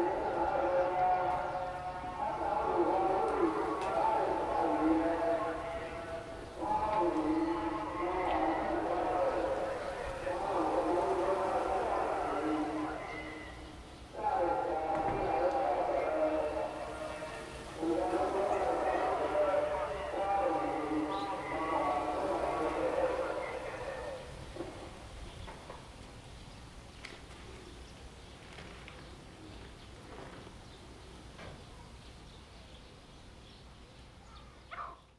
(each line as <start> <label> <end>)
0.0 small village radio 25.0